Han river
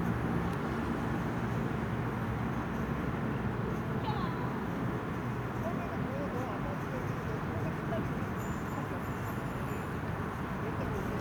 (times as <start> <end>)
3.4 5.0